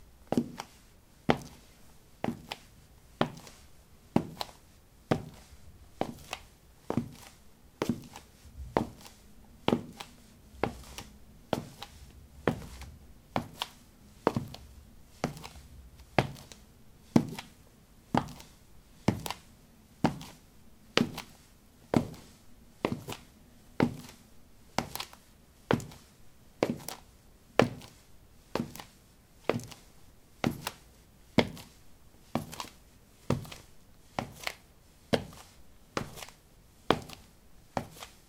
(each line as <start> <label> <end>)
5.1 footsteps 19.5